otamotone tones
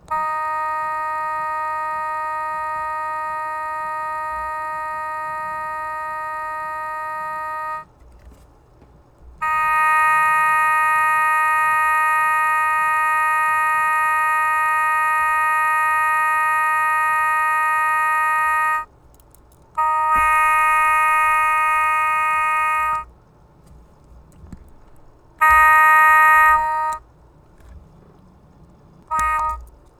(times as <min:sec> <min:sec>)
0:00.0 0:07.9, 0:09.4 0:18.9, 0:19.8 0:23.1, 0:25.4 0:27.0, 0:29.1 0:29.7